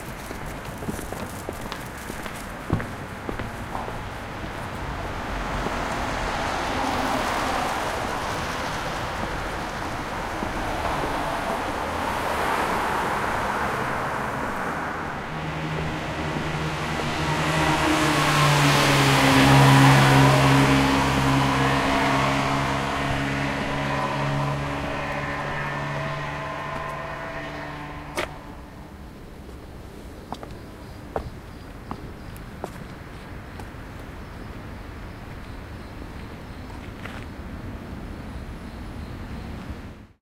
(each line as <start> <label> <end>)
0.0 walking 4.8
0.0 Cars 40.2
4.9 Motorcycle 29.2
24.8 walking 28.8
30.3 walking 34.1